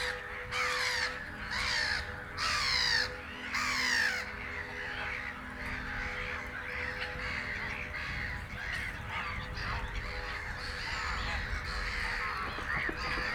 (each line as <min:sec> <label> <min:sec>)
0:00.0 Black-headed gulls 0:13.3
0:00.0 church bells 0:13.3